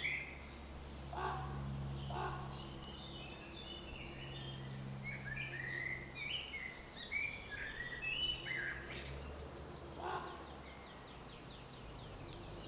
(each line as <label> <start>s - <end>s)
Birds singing 0.0s - 12.6s